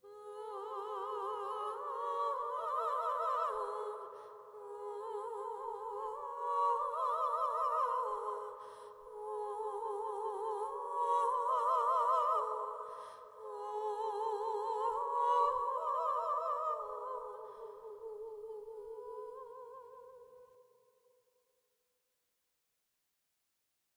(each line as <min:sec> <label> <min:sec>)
0:00.0 two female operatic voices harmonizing 0:20.7